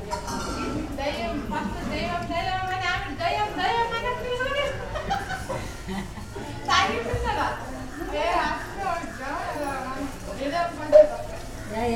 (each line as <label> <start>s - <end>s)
street life 0.0s - 11.9s